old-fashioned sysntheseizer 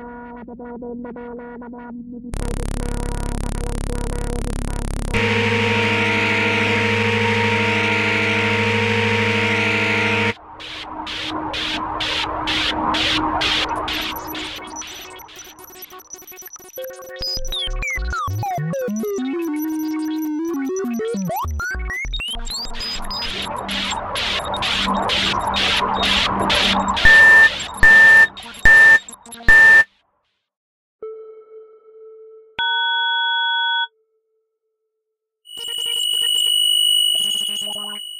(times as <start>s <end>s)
27.0s 29.8s